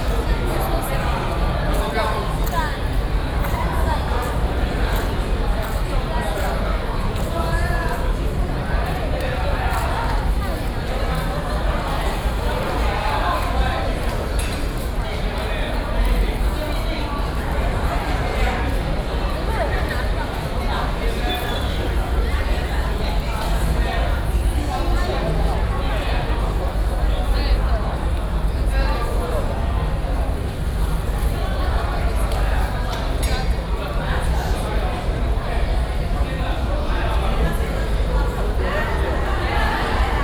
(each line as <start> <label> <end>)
0.0 People waiting to enter the concert hall 40.2